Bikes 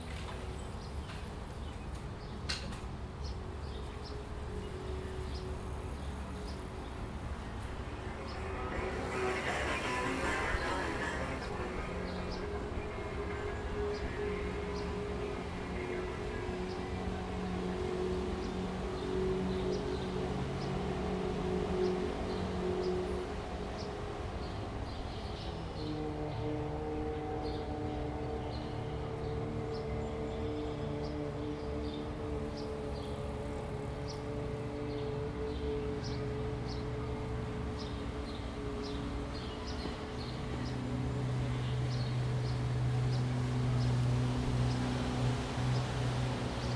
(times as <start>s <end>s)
0.0s 16.5s